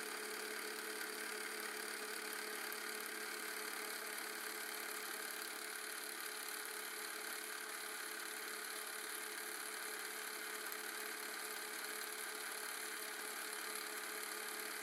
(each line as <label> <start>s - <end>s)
Motor noise of a Canon 310XL Super 8 Film Camera 0.0s - 14.8s